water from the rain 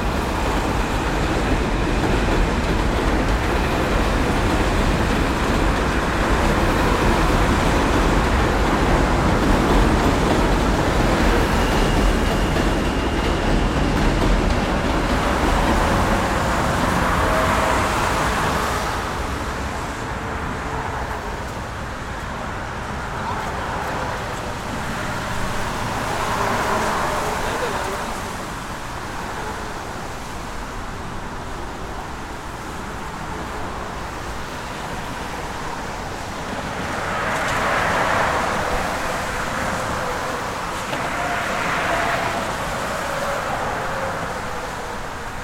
22.9 45.4

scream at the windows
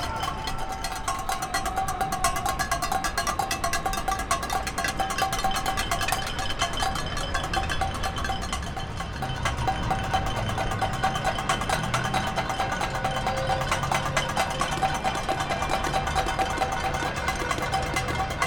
0.0 2.2

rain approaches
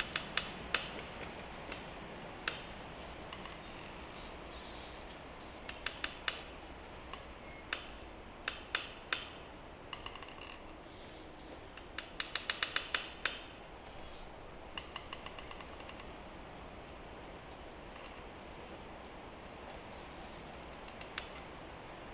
15.4 22.1

